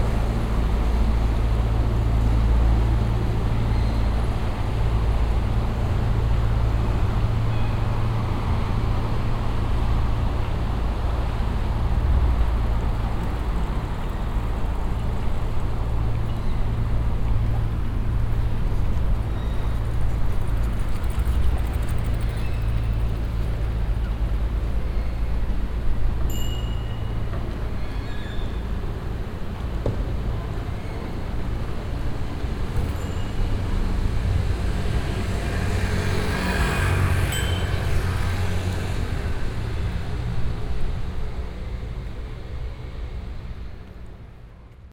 channel motor boat 0:00.0 - 0:27.6

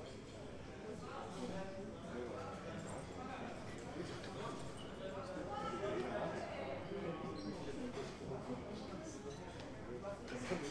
conversation of the guests 0:00.4 - 0:10.7
clutter of the plates, cutlery 0:10.3 - 0:10.7

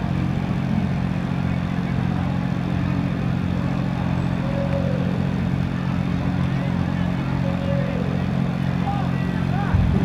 generator 0:00.0 - 0:10.0
street party 0:00.0 - 0:10.0

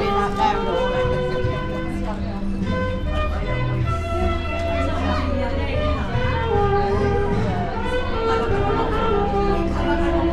sax player 0:00.0 - 0:10.3

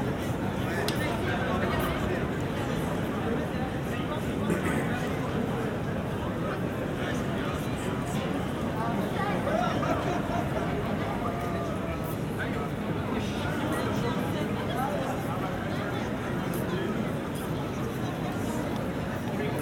tourists 0:00.0 - 0:19.6

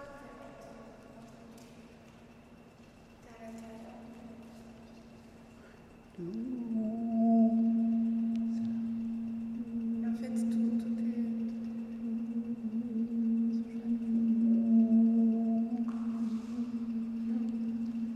floating echoe 0:06.1 - 0:18.1

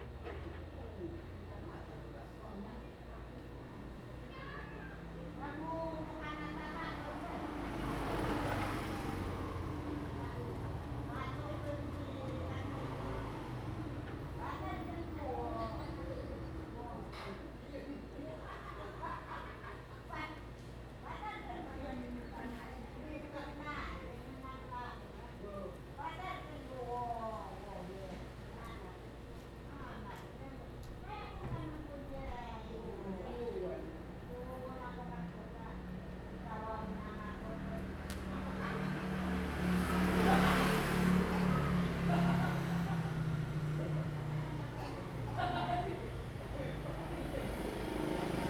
Traffic Sound 0:05.7 - 0:17.2
Traffic Sound 0:33.9 - 0:48.4

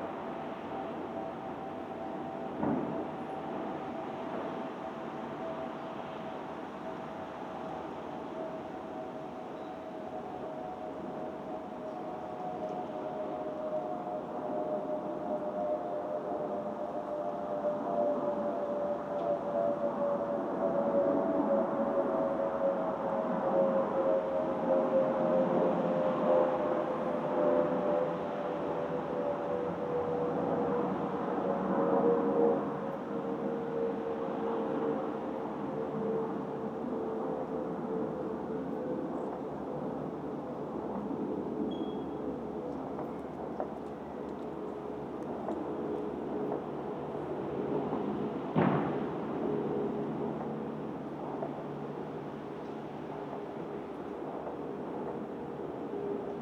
Fireworks 0:02.6 - 0:03.0
Fireworks 0:47.6 - 0:49.4

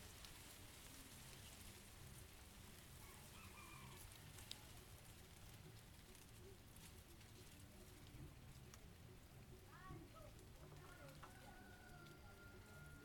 Guadua's trees been shaked by the wind 0:00.0 - 0:13.0

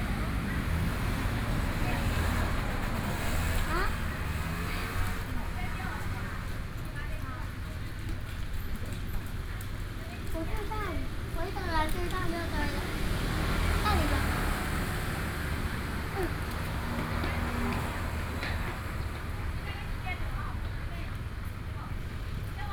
Mother and child 0:01.8 - 0:06.2
Mother and child 0:10.0 - 0:15.1
Mother and child 0:15.9 - 0:17.2

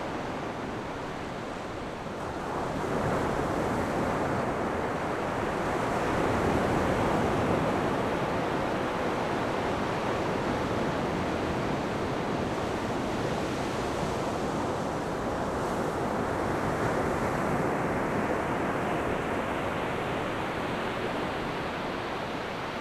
waves 0:00.0 - 0:22.8

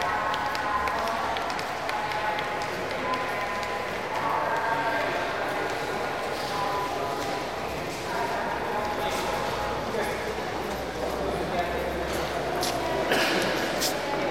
announcements 0:00.0 - 0:11.5

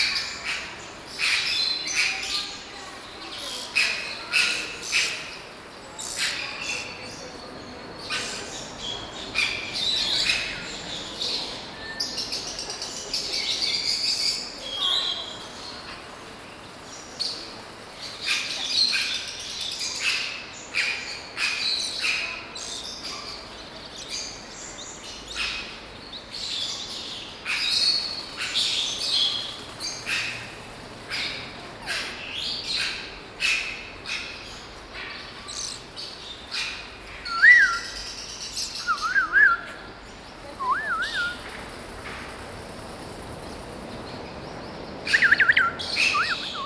exotic birds 0:00.0 - 0:46.6

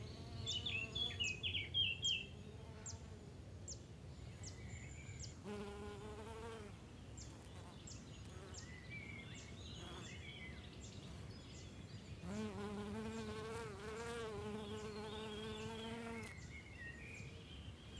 birds 0:00.0 - 0:17.9
bees 0:12.2 - 0:16.3

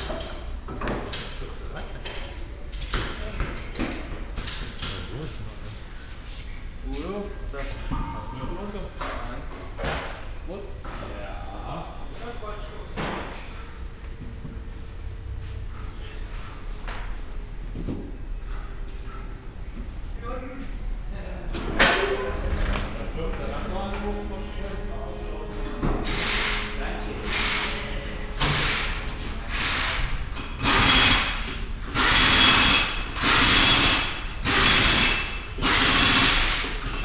mechanics talking 0:18.6 - 0:32.6
mechanic change wheels on several cars 0:21.5 - 0:37.0
pneumatic pressure and air release 0:25.6 - 0:37.0

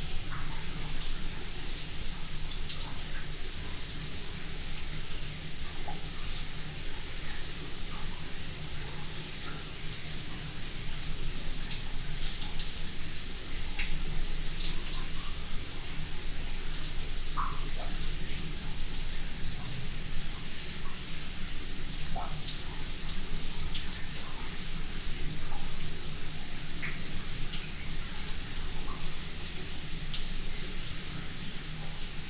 dripping water 0:00.0 - 0:32.2

